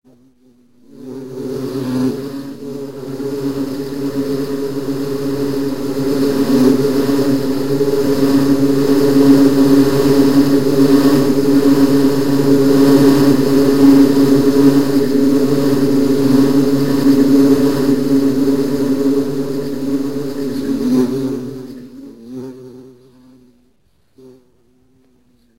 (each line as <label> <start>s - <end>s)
swarm of bees 0.1s - 23.6s